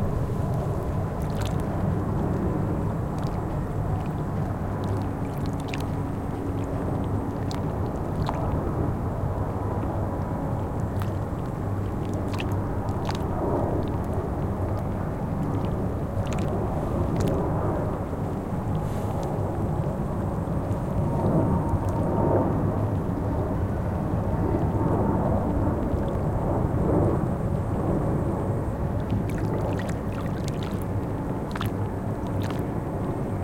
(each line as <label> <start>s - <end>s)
Lake water galloping 0.0s - 33.4s
plane 0.0s - 33.4s
insect 0.2s - 33.4s